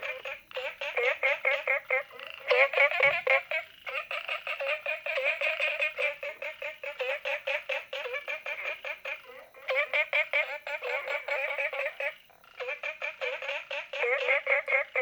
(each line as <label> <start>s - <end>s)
Frogs chirping 0.0s - 15.0s